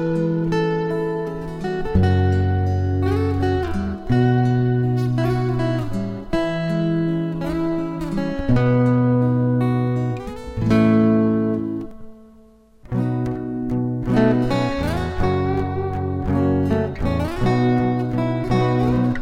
rythm and solo guitar 0.0 - 19.2

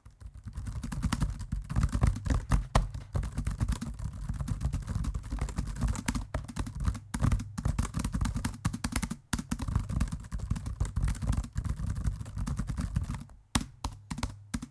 Typing Laptop Keyboard 0.0 - 14.7

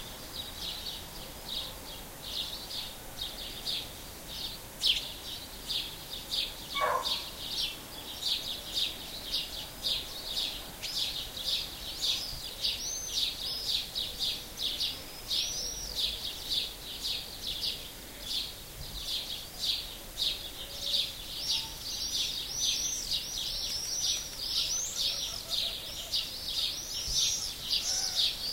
house sparrows 5.7 - 28.5
dog 6.8 - 7.2
collared dove 20.3 - 28.3

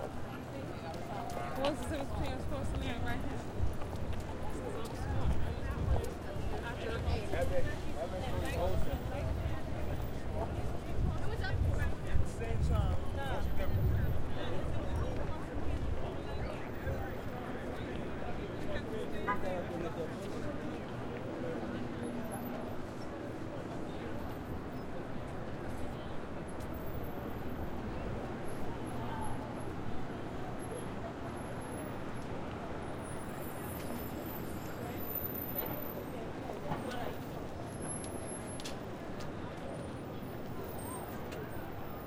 crowd 0.0 - 42.0
traffic 0.0 - 42.0
walk 0.0 - 42.0

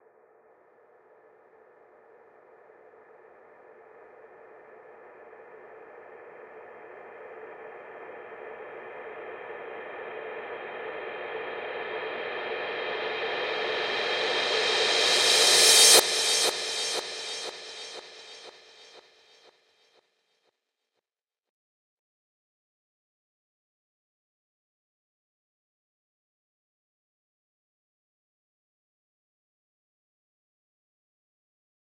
Reverse Cymbal Crash Sweep 10.9 - 19.4

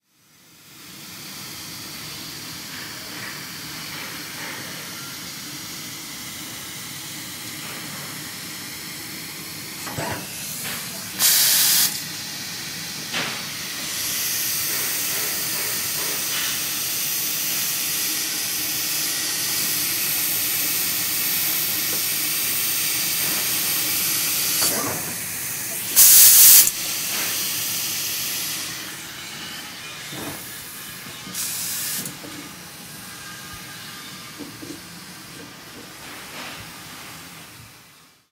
lazer cutter 13.1 - 30.5

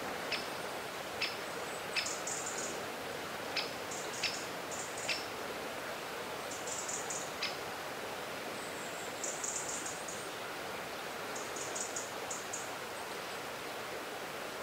river 0.0 - 14.6
bird song 1.2 - 2.7
bird song 3.6 - 5.3

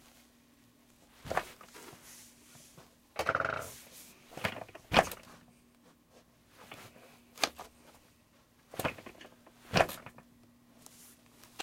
Sitting in a computer chair 0.0 - 11.6

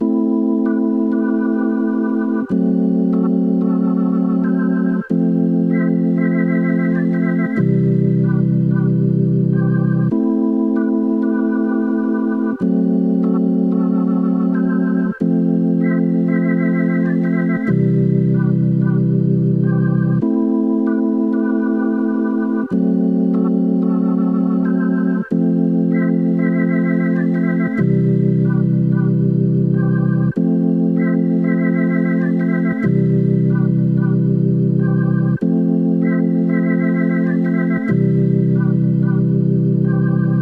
Jazz Organ 0.0 - 40.4

